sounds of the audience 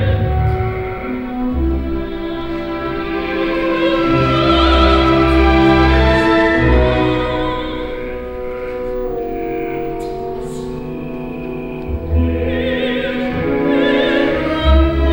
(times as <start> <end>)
3.9 15.1